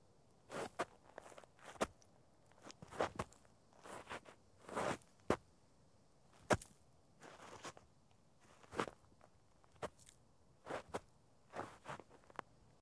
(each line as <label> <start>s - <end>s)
Foot Drags Dirt 0.5s - 2.0s
Foot Drags Dirt 2.6s - 5.1s
Foot Drags Dirt 6.4s - 7.8s
Foot Drags Dirt 8.4s - 9.0s
Foot Drags Dirt 10.7s - 12.4s